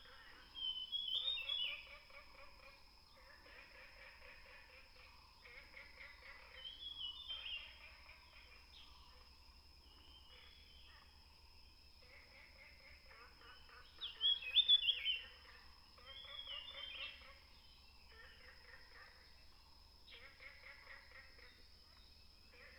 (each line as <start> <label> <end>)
0.0 Birds singing 1.9
0.0 Frogs chirping 22.7
6.6 Birds singing 7.7
13.8 Birds singing 15.4
16.1 Birds singing 18.0